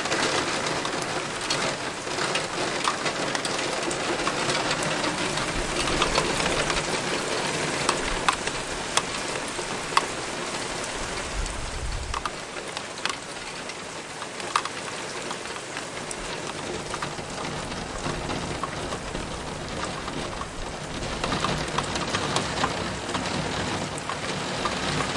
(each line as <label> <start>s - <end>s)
rain on the window 0.0s - 25.1s